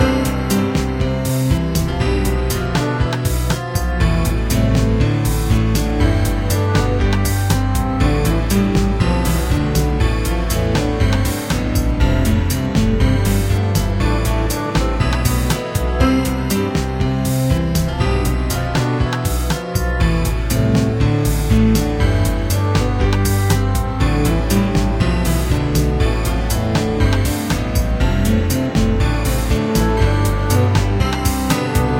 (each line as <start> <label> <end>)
0.0 piano 31.9
0.0 synth 31.9